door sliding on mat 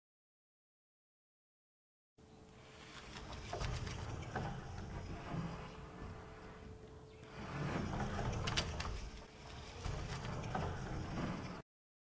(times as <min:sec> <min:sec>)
0:02.6 0:11.6